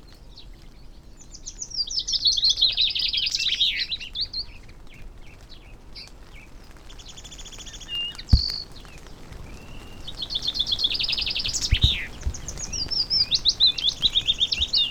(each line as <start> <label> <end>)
0.0 background noise 14.9
0.0 blackbird song 14.9
0.0 goldfinch song 14.9
0.0 moisture dripping from trees 14.9
0.0 song thrush 14.9
0.0 willow warbler 14.9
0.1 pheasant 14.9
4.9 wood pigeon 14.9
6.9 skylark 14.9